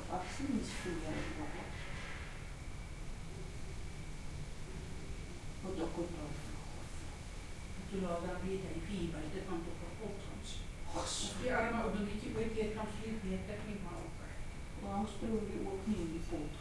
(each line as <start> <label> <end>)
7.8 Afrikaans Voices 16.6